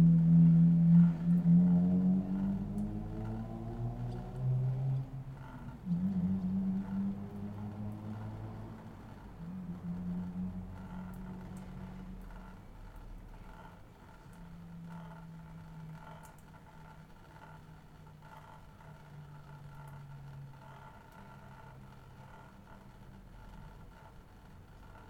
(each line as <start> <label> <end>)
0.0 cars 12.5
0.0 sounds from houses 25.0